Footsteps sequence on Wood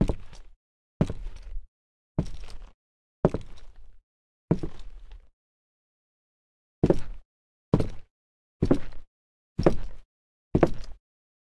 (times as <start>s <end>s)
1.0s 1.4s, 2.2s 2.7s, 4.5s 4.9s, 6.8s 7.2s, 7.8s 9.0s, 9.6s 10.0s, 10.6s 11.0s